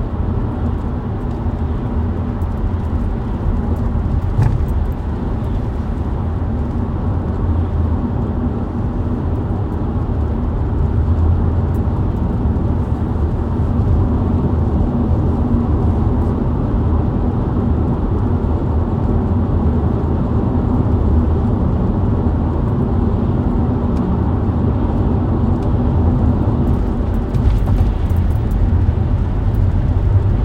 driving on the highway 0.0 - 30.4

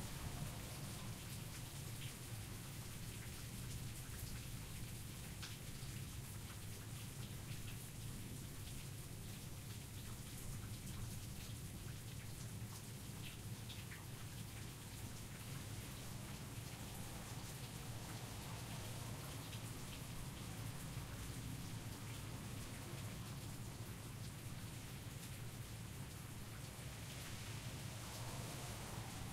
heavy rain storm tapering off 27.3 - 29.3

